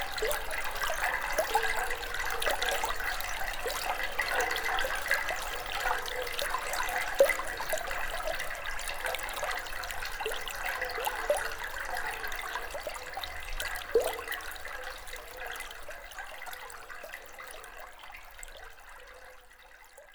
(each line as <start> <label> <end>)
0.0 water is quietly flowing 20.1